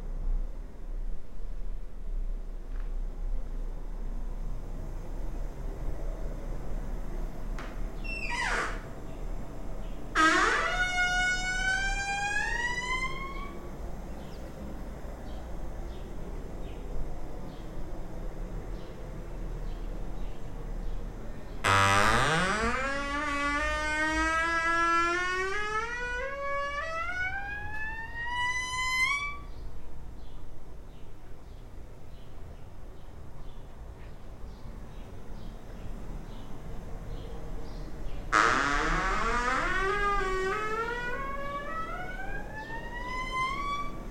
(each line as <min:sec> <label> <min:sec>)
0:07.5 creaking doors 0:15.3
0:21.5 creaking doors 0:29.6
0:37.9 creaking doors 0:44.1